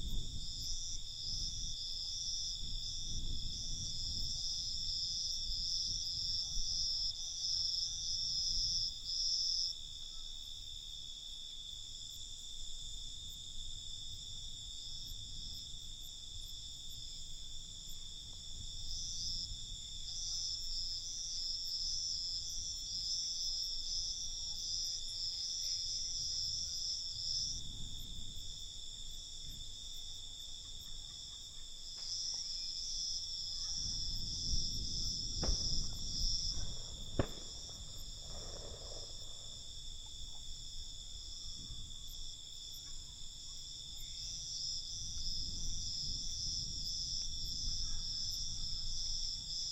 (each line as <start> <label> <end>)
0.0 cicadas 49.7
0.0 crickets 49.7
0.0 wind 49.7
33.8 fire crackers 40.1